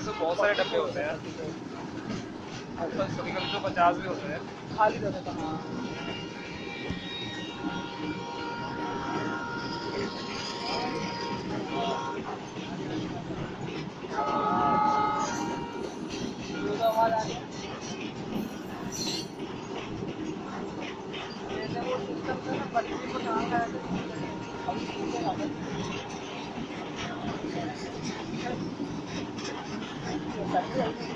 crowd 0.0 - 31.1
train 0.0 - 31.1

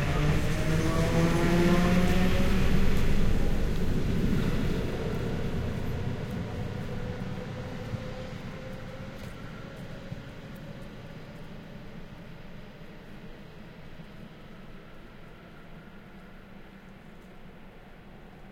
Suburban train arrives & departs 0.0 - 18.5
people leaving & entering the train 0.0 - 18.5

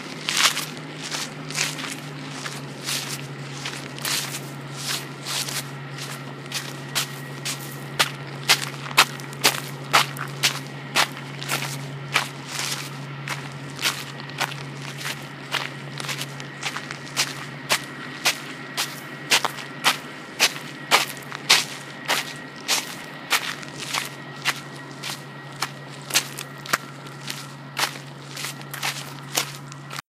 bus in the background 0.0 - 30.0
stomping my sandals through some gravel 0.0 - 30.0

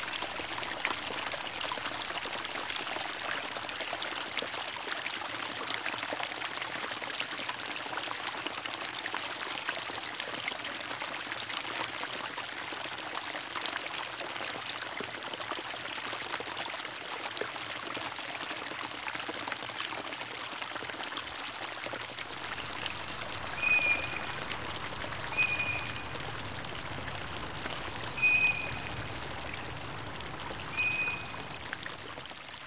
small creek 0.0 - 32.6

